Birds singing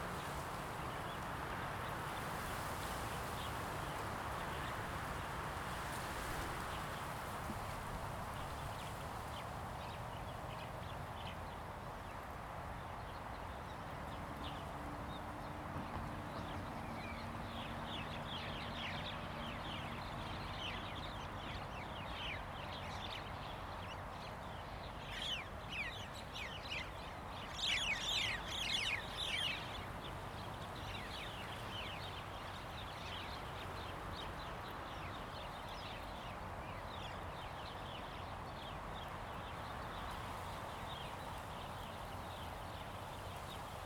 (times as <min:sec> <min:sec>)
0:25.1 0:36.4